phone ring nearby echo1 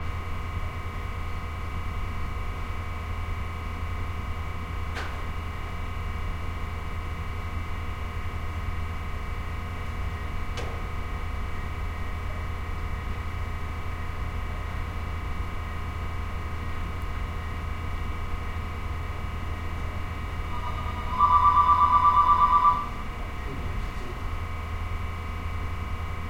0:20.5 0:23.0

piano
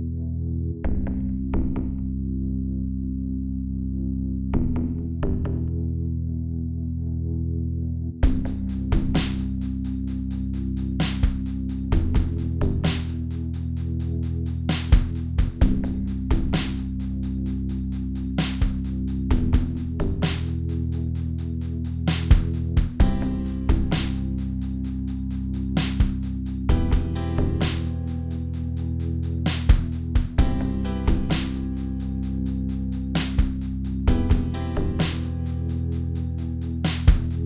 0:23.0 0:25.4, 0:26.6 0:37.4

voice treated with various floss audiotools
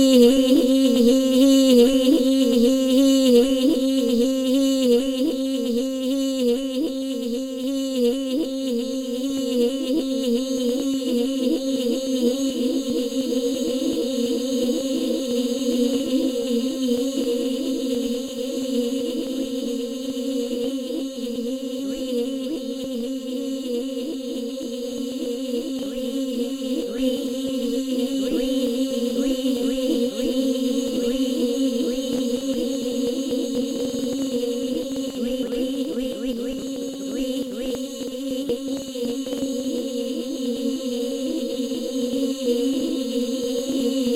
0:25.2 0:44.1

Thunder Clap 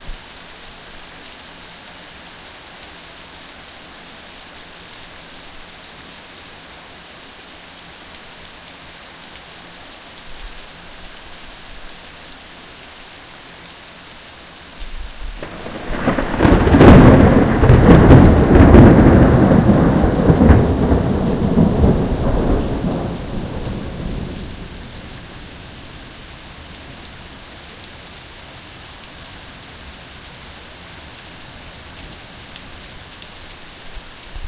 0:15.4 0:24.6

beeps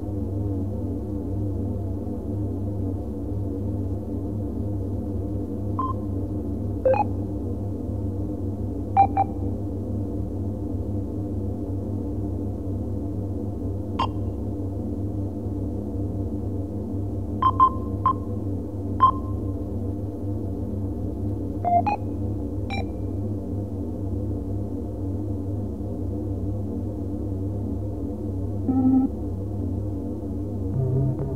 0:28.7 0:29.1, 0:30.8 0:31.3

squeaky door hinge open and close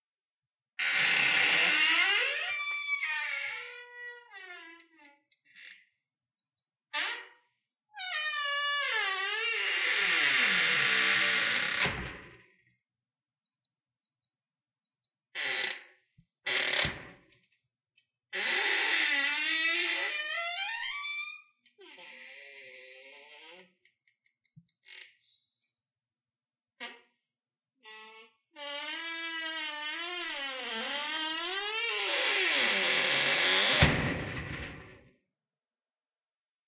0:00.8 0:05.8, 0:27.8 0:34.1

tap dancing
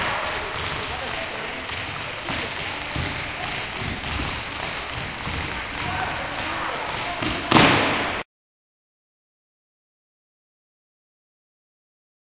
0:00.0 0:08.0

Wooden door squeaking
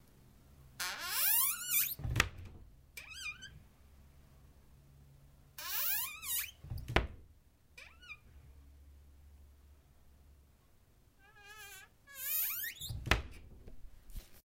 0:00.8 0:03.6, 0:05.6 0:08.3, 0:11.2 0:13.6

